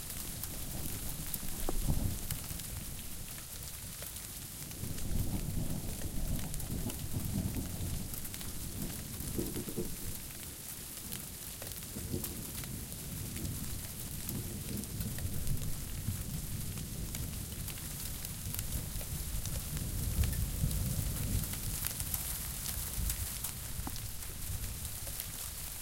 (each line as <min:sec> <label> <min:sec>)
0:00.0 sleet and freezing rain 0:25.8
0:04.9 Thunder 0:10.2